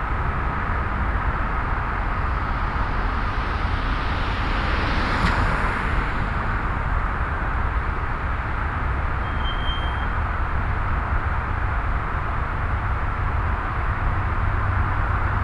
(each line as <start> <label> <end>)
0.0 road traffic 15.4